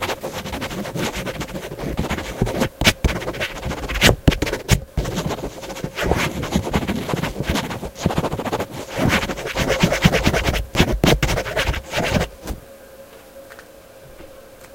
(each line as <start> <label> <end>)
0.0 Quickly scribbling on pen with paper 12.3